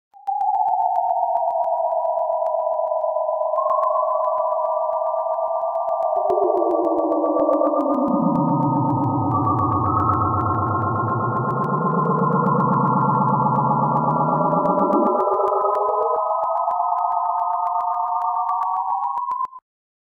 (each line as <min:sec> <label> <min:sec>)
0:00.2 synth 0:19.6